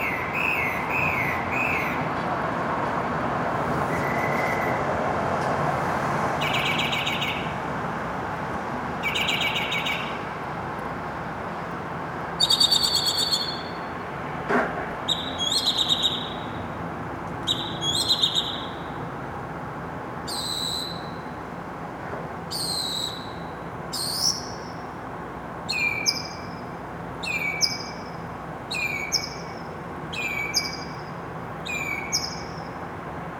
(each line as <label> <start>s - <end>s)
Solo Mockingbird Between Buildings 6.4s - 7.6s
Solo Mockingbird Between Buildings 9.0s - 10.3s
Solo Mockingbird Between Buildings 15.1s - 16.7s
Solo Mockingbird Between Buildings 17.4s - 19.0s
Solo Mockingbird Between Buildings 25.7s - 32.9s